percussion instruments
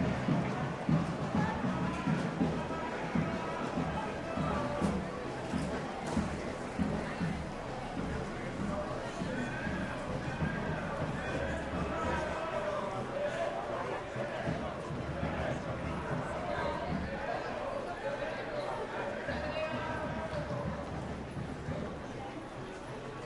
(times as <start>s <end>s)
0.0s 17.3s